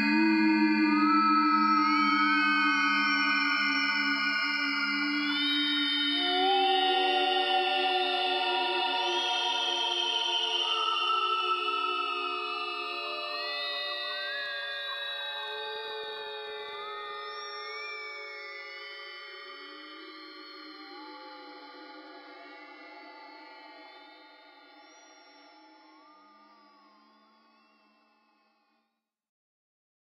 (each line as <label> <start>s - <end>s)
ghostly wailing voices 0.0s - 14.2s